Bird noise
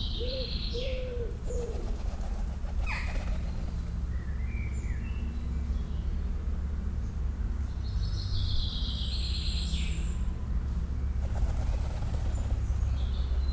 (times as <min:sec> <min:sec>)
0:00.0 0:06.4, 0:11.0 0:13.5